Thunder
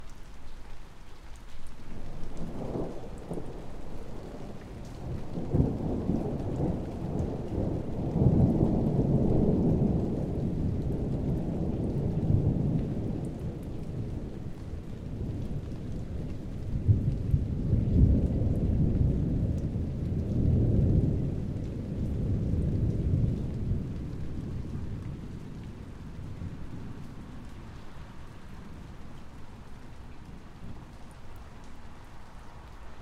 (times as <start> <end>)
4.3 27.5